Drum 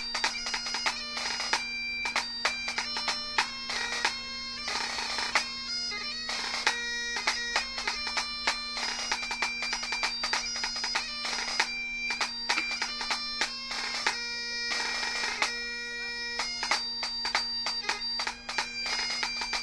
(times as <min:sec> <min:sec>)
0:11.6 0:13.5